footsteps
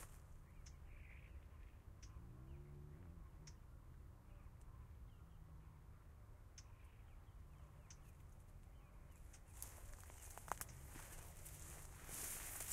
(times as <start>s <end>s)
9.6s 12.7s